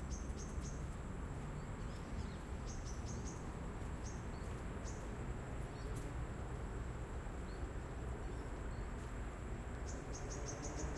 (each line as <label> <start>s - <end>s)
traffic 0.0s - 10.9s
walking 3.4s - 6.2s